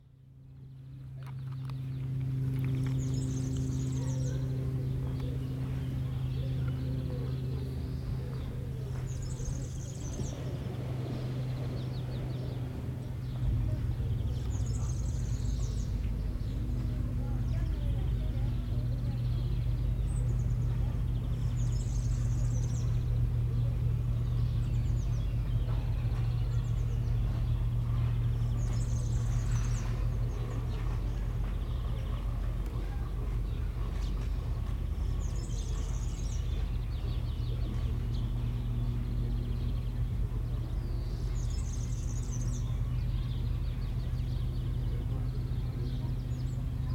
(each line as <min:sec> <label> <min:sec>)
0:00.0 motos 0:46.9